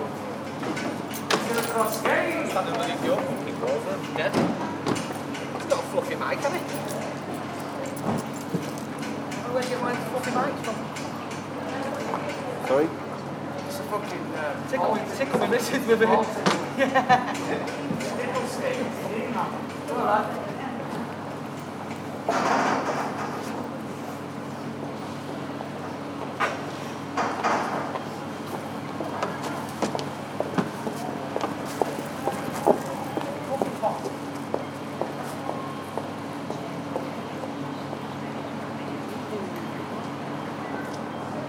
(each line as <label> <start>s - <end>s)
people 0.1s - 21.2s
men working 0.4s - 10.8s